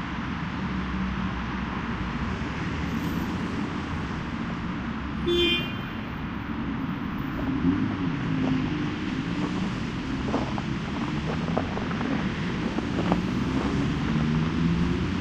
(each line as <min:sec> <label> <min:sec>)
0:00.0 traffic 0:15.2